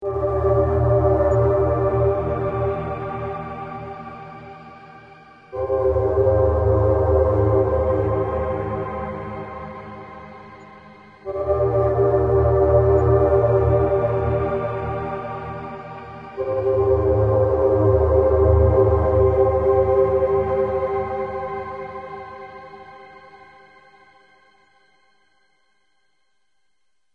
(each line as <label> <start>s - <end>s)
chords played through a home-made granular plug-in 0.0s - 26.5s